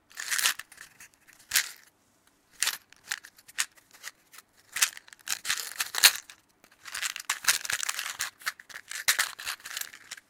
shaking it at various speeds 0.1 - 1.9
shaking it at various speeds 2.5 - 10.2

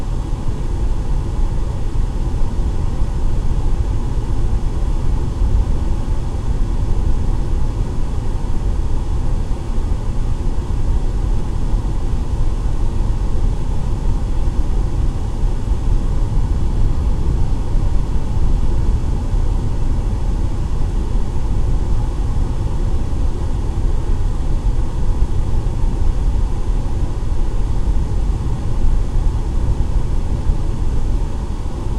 air conditioning vent 0.0 - 31.9

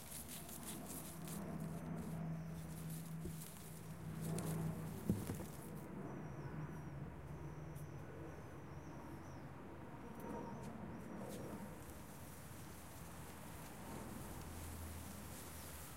plants moving on the wind 0.0 - 5.9
plants moving on the wind 11.2 - 15.9

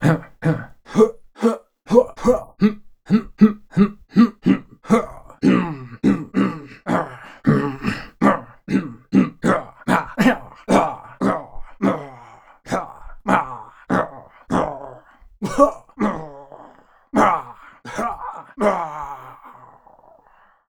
voice grunts 0.0 - 20.3

